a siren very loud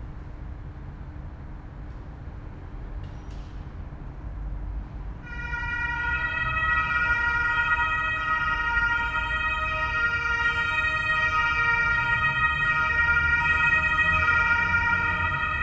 0:05.3 0:15.6

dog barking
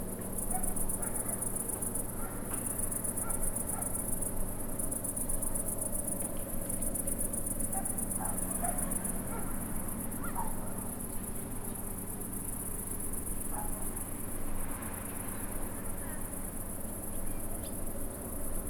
0:07.7 0:09.6, 0:10.2 0:10.9, 0:13.6 0:13.8

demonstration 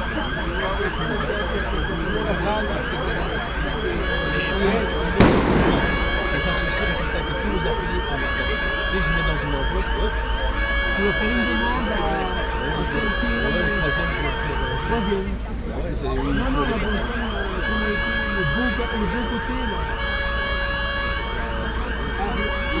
0:05.2 0:07.2

